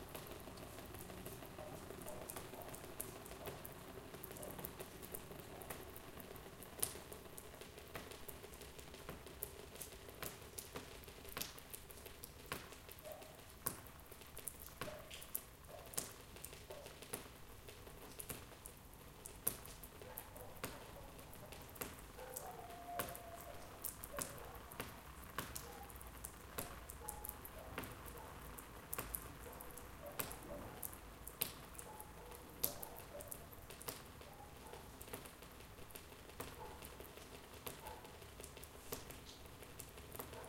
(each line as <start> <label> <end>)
0.0 water drops keep falling on a plastic shelter 40.4